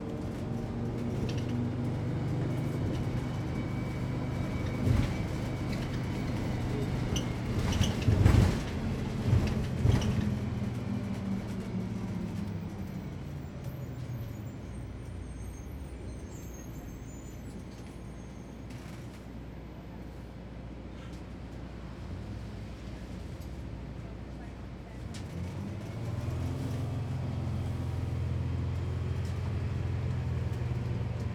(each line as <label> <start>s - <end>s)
bus that squeaked like crazy 0.0s - 21.2s